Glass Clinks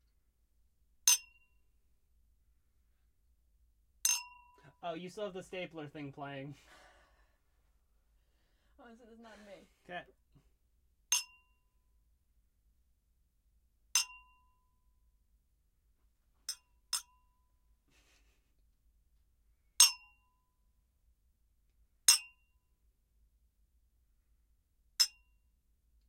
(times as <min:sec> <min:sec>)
0:01.1 0:01.4, 0:04.1 0:04.6, 0:11.1 0:11.4, 0:14.0 0:14.3, 0:16.5 0:17.1, 0:19.8 0:20.2, 0:22.1 0:22.3, 0:25.0 0:25.2